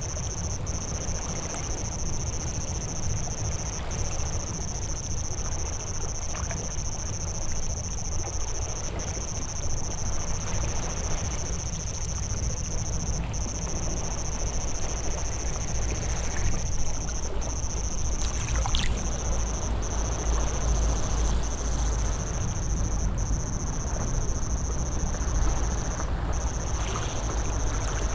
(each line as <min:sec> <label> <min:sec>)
0:04.3 Wave Sound 0:28.1